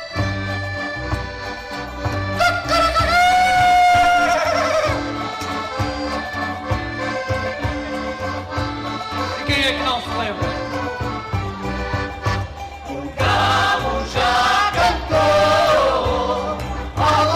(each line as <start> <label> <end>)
0.0 Folk band family 17.3